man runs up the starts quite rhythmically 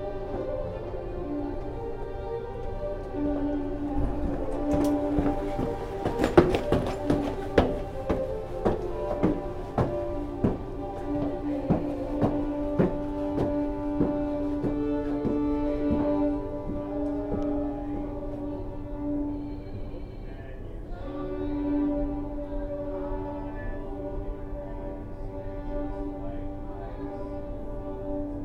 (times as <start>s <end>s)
3.3s 17.8s